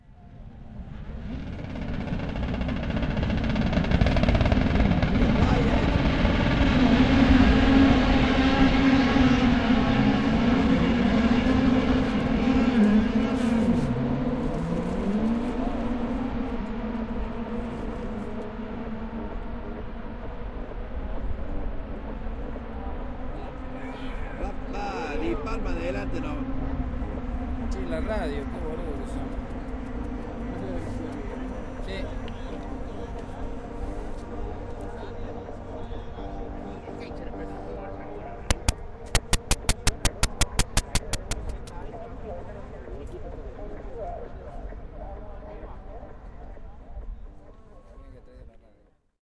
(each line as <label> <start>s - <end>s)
Howling engines far away 0.0s - 48.3s
tiny drummer 38.5s - 41.7s